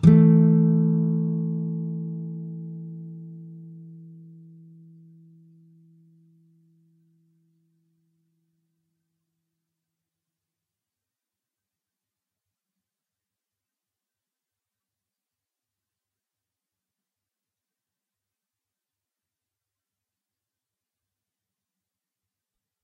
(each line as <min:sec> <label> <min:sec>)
0:00.0 nylon guitar 0:07.5